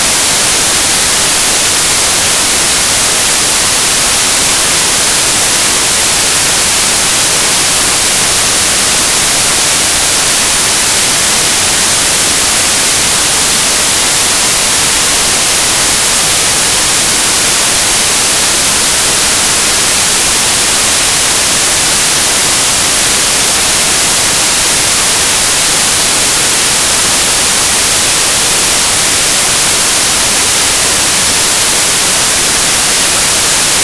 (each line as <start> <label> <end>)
0.0 noise 33.8